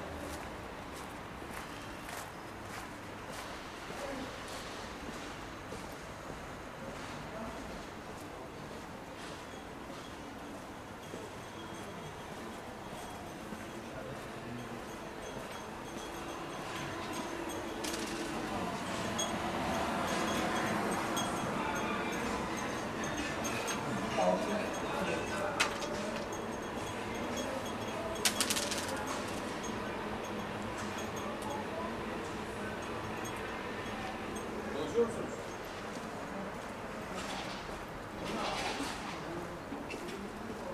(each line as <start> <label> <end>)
10.0 tea drinkers 37.2
12.4 road sweepers 40.5
16.0 home delivery courier 34.7
16.8 backgammon players 29.8
28.2 plastic recycler 29.5